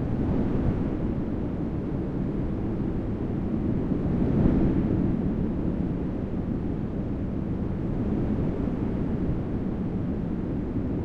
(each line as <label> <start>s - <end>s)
wind 0.0s - 11.0s